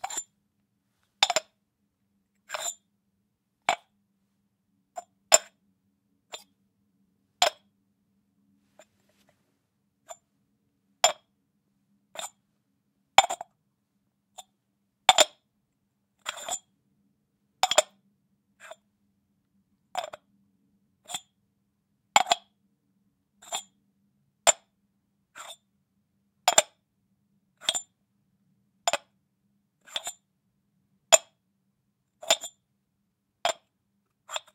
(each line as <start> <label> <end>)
0.0 clay jar lid open close 0.3
1.2 clay jar lid open close 1.5
34.3 clay jar lid open close 34.5